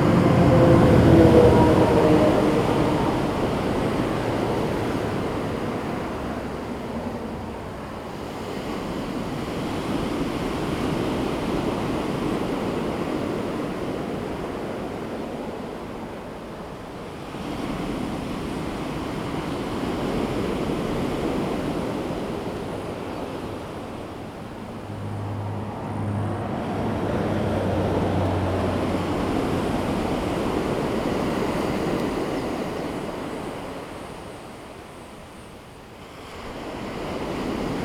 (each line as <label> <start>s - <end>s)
Traffic sound 0.0s - 8.6s
waves 0.0s - 37.8s
Traffic sound 22.7s - 32.3s